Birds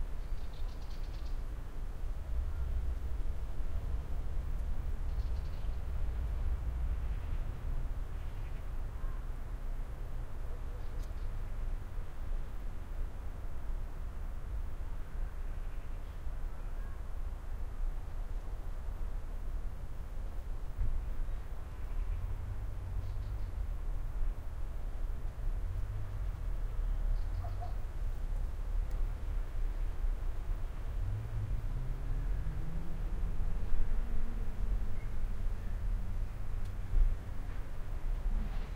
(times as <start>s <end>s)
26.8s 27.9s